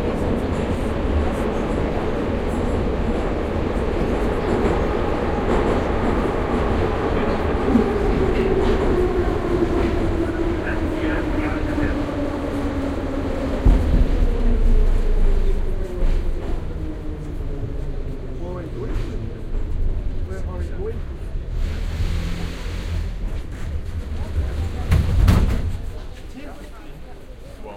voices 0:00.0 - 0:21.5
metro stopping 0:00.0 - 0:27.7

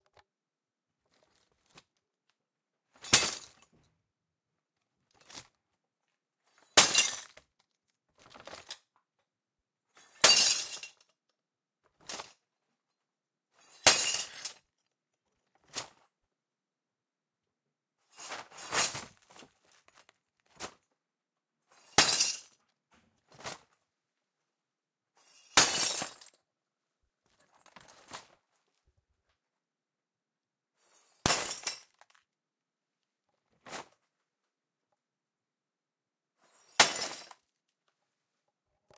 Glass bag drops 0:36.6 - 0:37.4

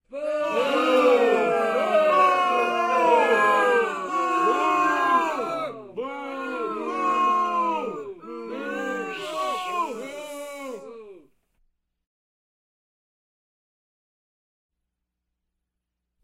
Crowd Booing 0:00.1 - 0:11.3

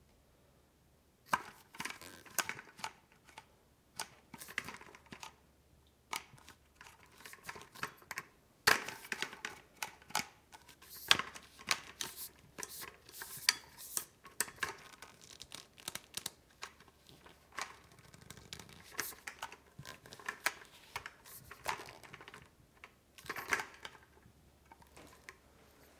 Aluminum metal walker cane, grabbing handling 0:10.5 - 0:15.4

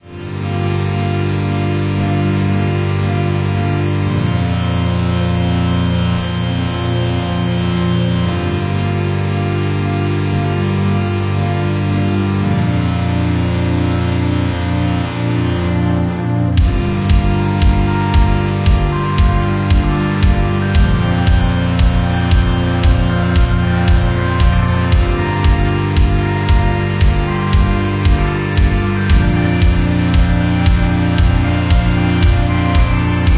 strings 0:00.0 - 0:33.3
synth 0:00.0 - 0:33.3
minimal beat 0:16.6 - 0:33.3

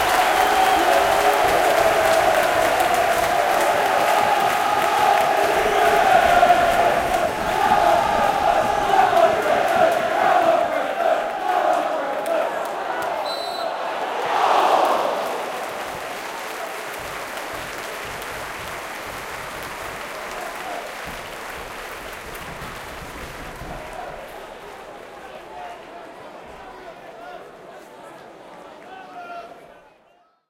crowd cheering and chanting 0:00.0 - 0:30.2

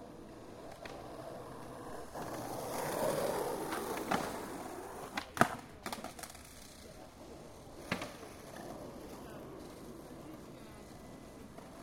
Skateboard 0:00.0 - 0:11.8
Skateboard crash 0:02.1 - 0:06.7

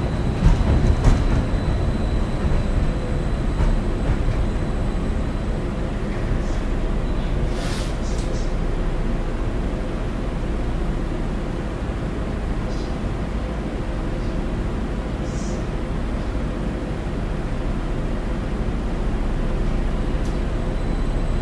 conductor announcing stops 0:00.0 - 0:09.6
passengers talking 0:00.0 - 0:10.6
train as it starts and stops 0:00.0 - 0:21.4
passengers talking 0:11.3 - 0:18.9
conductor announcing stops 0:12.4 - 0:16.1

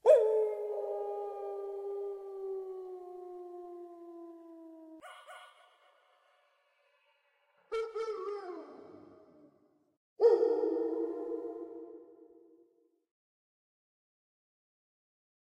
Distant howling pupper 0:00.0 - 0:06.4
Distant howling pupper 0:10.2 - 0:12.1

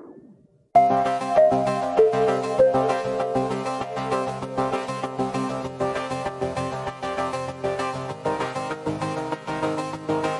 Music 0:00.0 - 0:10.3

